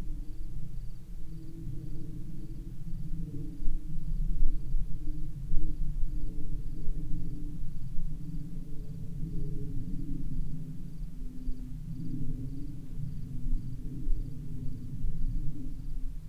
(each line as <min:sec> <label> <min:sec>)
0:00.0 a little wind 0:16.2
0:00.0 distant cricket 0:16.2